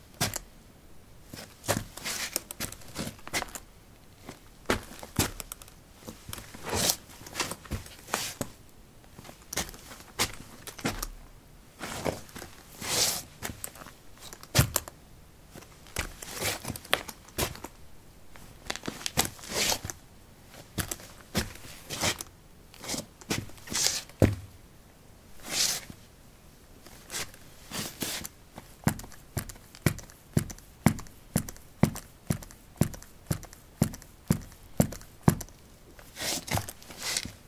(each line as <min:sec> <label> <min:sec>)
0:04.3 soil 17b boots shuffle tap 0:06.6
0:23.3 soil 17b boots shuffle tap 0:24.5
0:28.6 soil 17b boots shuffle tap 0:35.5